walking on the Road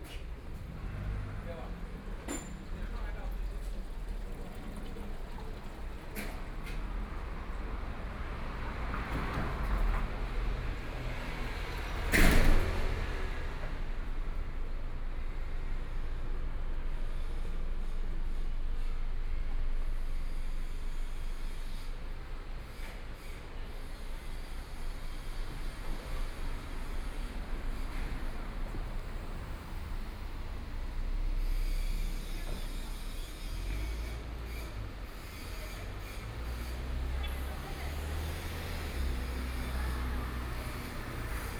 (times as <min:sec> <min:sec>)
0:22.5 0:41.5